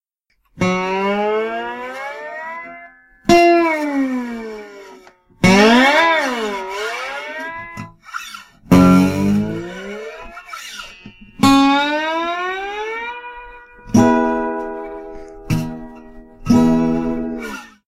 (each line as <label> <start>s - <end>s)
guitar 0.4s - 17.8s